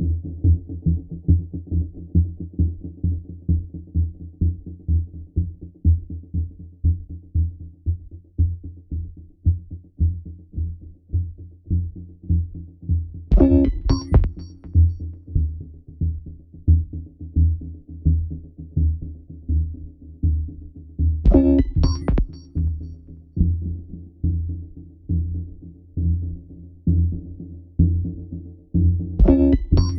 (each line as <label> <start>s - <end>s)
rhythmic patterns 13.3s - 15.0s
rhythmic patterns 21.3s - 22.7s
rhythmic patterns 29.2s - 29.9s